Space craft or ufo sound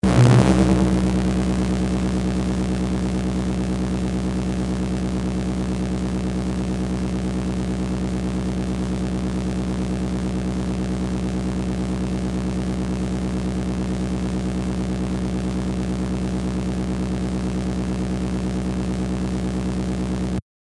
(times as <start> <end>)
0.0 3.6